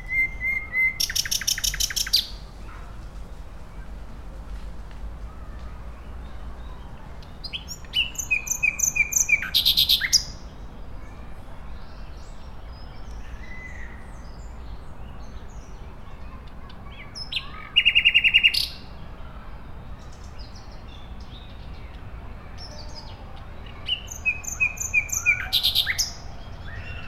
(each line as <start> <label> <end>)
0.0 Nightingale 4.5
0.0 children on a playground 27.0
0.0 distant traffic noise 27.0
5.2 Nightingale 10.6
20.0 Nightingale 27.0